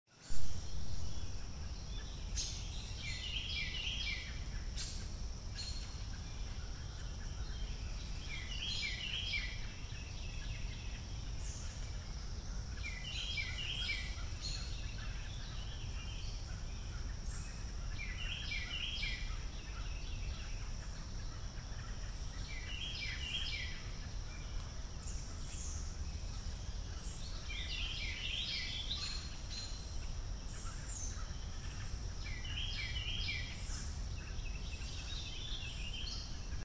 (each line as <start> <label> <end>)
0.1 birds 36.6